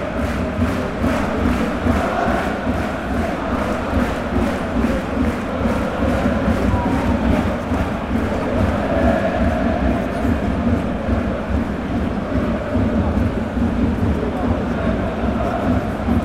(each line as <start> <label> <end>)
0.0 fans celebrate it chanting 16.2